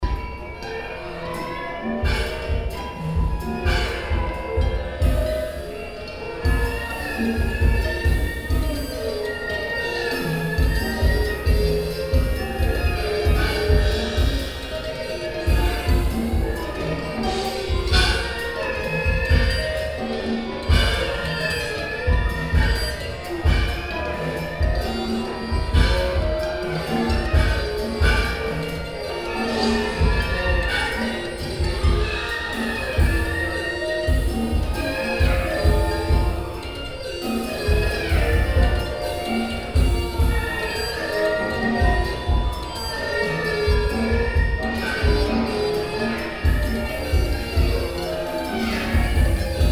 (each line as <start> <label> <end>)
0.0 concert of the zeitkratzer ensemble performing music 49.7